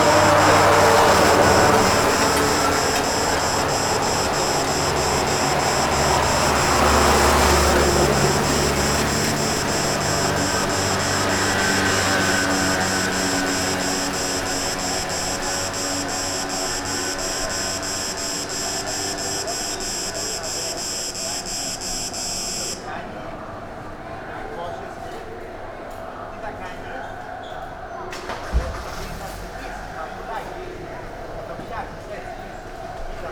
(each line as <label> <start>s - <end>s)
scooters 0.0s - 22.8s
tourists cursing bikes 0.0s - 22.9s
loud cicada in a tree 0.0s - 23.0s